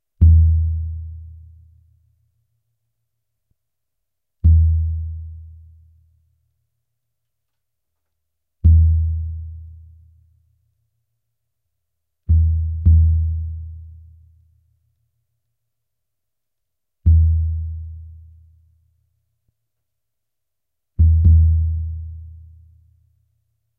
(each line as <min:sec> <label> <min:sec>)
0:00.2 Brazilian bass drum played with a mallet 0:01.6
0:04.5 Brazilian bass drum played with a mallet 0:05.6
0:08.6 Brazilian bass drum played with a mallet 0:09.9
0:12.3 Brazilian bass drum played with a mallet 0:14.0
0:17.1 Brazilian bass drum played with a mallet 0:18.2
0:21.0 Brazilian bass drum played with a mallet 0:22.5